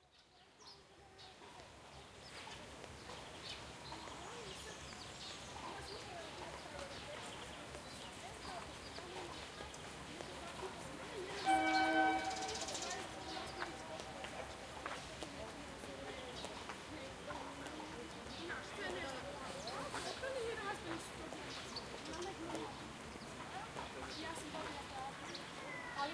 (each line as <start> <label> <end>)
1.2 walking by 26.1
3.8 people talking 25.4
11.4 birds singing 14.6